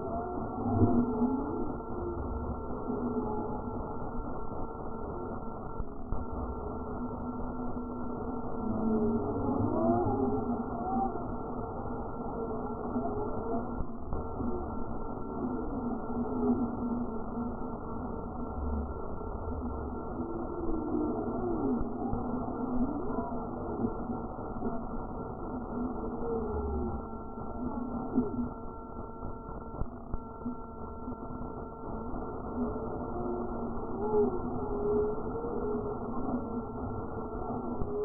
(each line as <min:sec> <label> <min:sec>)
0:12.4 radio reception sound 0:38.0